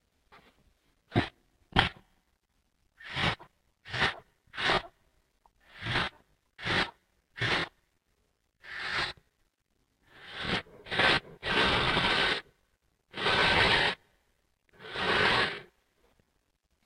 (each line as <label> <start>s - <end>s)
dragon or monster -smelling 5.6s - 7.8s
dragon or monster -smelling 8.6s - 9.2s
dragon or monster -smelling 10.1s - 12.5s
dragon or monster -smelling 13.1s - 14.0s
dragon or monster -smelling 14.8s - 15.8s